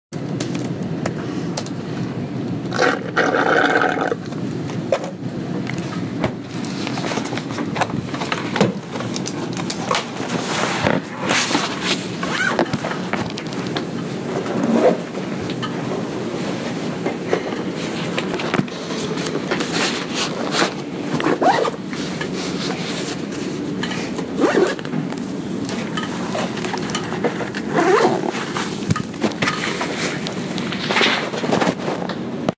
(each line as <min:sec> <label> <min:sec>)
0:00.5 Students finishing their coffees and packing up 0:32.5
0:18.2 backpack 0:23.3
0:24.3 backpack 0:24.9
0:26.3 backpack 0:31.8